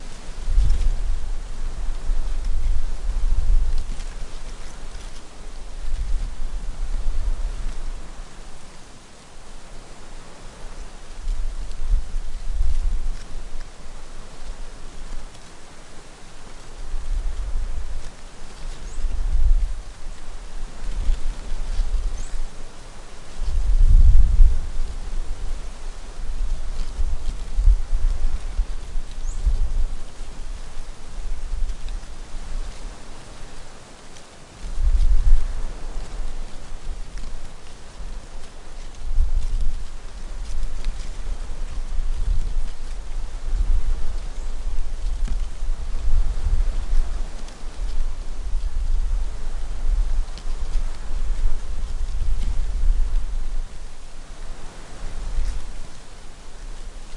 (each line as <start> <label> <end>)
0.0 Wind 57.1
25.1 Waves 57.1